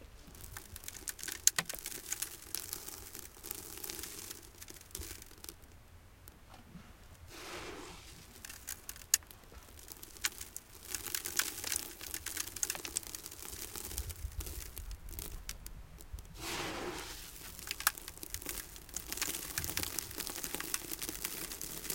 0.2s sand pour on sand 5.5s
7.3s sand pour on sand 15.5s
16.3s sand pour on sand 21.9s

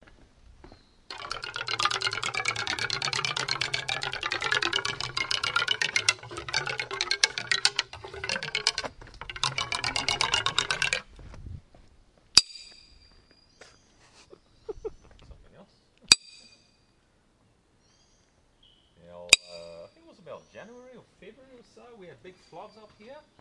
1.1s dragging a stick along the wooden fence 11.1s

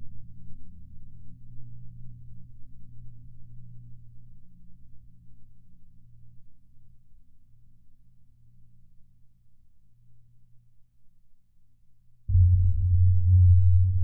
12.3s bass 14.0s

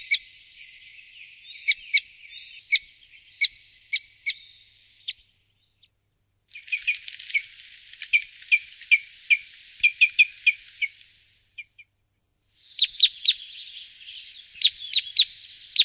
0.0s bird sound Loxia curvirostra 5.9s
6.5s bird sound Loxia curvirostra 12.0s
12.6s bird sound Loxia curvirostra 15.8s

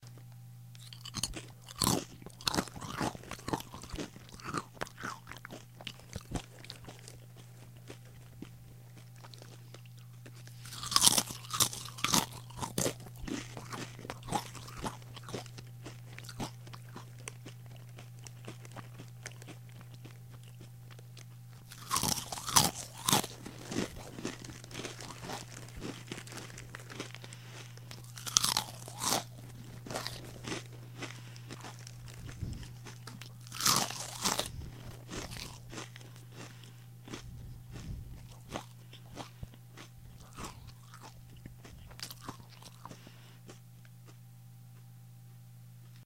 0.1s eating crunchy corn chips 44.9s

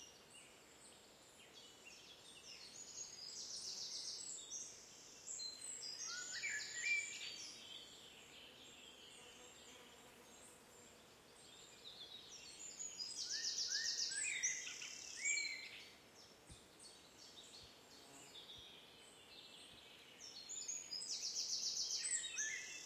1.5s common blackbird 9.8s
10.4s common blackbird 22.8s

